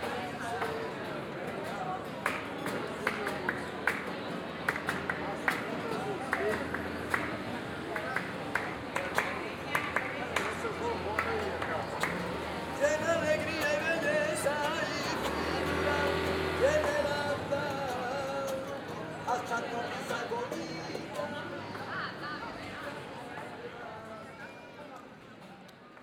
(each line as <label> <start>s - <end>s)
people sitting outside at the street bars talking 0.0s - 26.0s
singer 9.0s - 23.1s
guitar player 12.2s - 21.4s